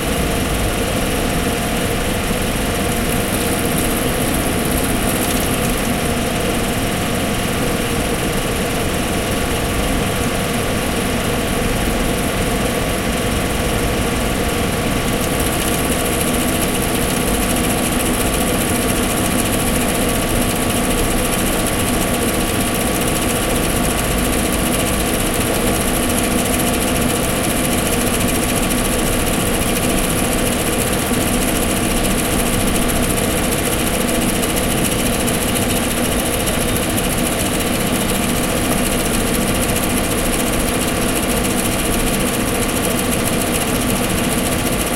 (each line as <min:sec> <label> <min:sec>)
0:00.2 noise from computer 0:06.4